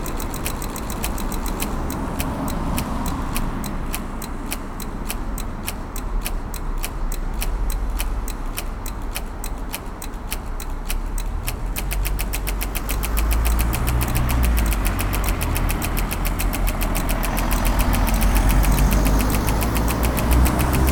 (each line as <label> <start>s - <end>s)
clicking sounds of the lamps 0.0s - 20.9s
traffic 0.0s - 20.9s